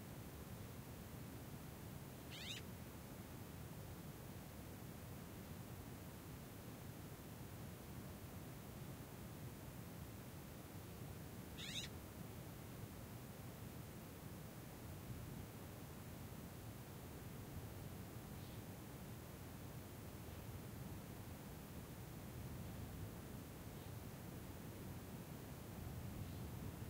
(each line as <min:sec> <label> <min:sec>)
0:02.4 Birds call/response 0:02.6
0:11.6 Birds call/response 0:11.9